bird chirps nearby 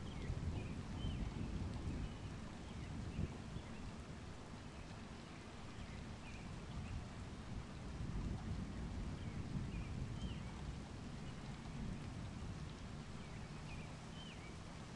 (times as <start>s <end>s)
13.3s 14.6s